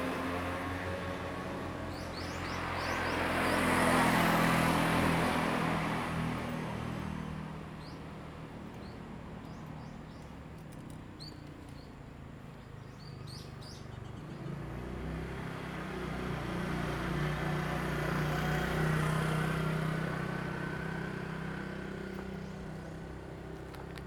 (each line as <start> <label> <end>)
0.0 Traffic Sound 24.0
1.8 Birds singing 3.6
7.8 Birds singing 14.7